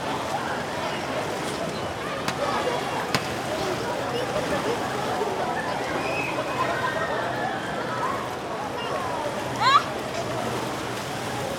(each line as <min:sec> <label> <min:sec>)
0:00.0 people swimming 0:11.5
0:00.0 voices 0:11.5
0:00.0 water sounds 0:11.5
0:01.4 splash 0:05.2